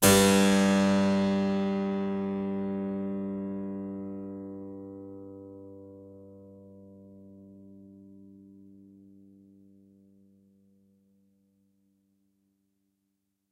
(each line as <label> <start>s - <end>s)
Harpsichord 0.0s - 2.7s